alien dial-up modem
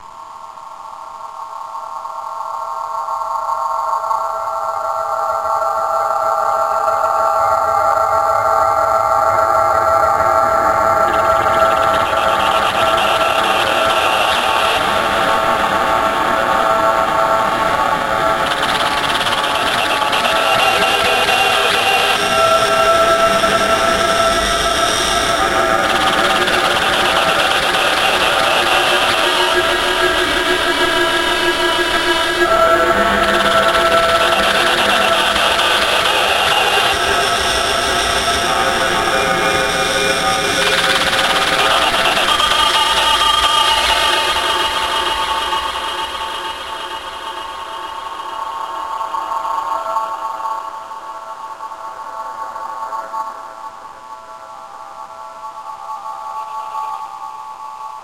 9.4 48.5

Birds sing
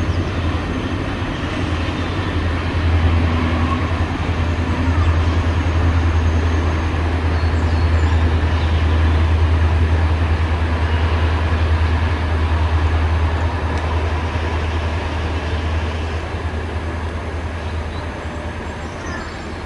0.0 9.7, 16.9 19.6

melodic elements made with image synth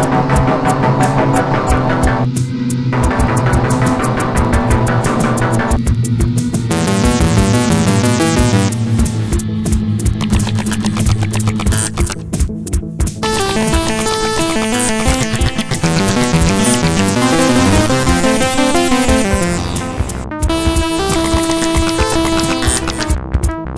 6.7 8.8, 13.2 23.0

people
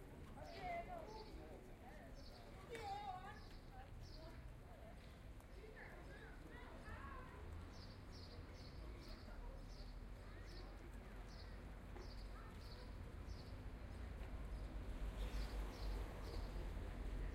0.0 13.5

